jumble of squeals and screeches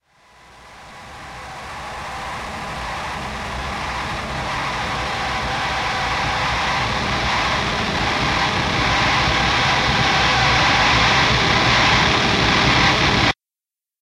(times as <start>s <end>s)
1.8s 12.9s